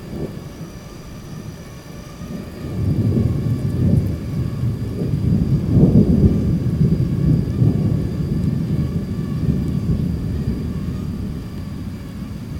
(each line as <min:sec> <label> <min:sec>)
0:00.0 Mosquitoes 0:12.5
0:00.0 light rain 0:12.5
0:00.0 thunderstorms 0:12.5